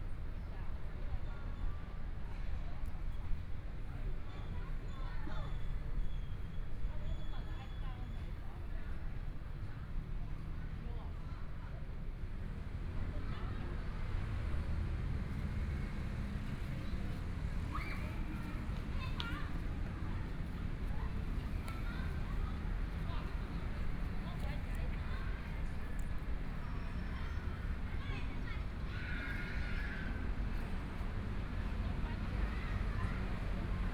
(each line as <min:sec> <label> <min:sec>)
0:12.3 Traffic Sound 0:33.9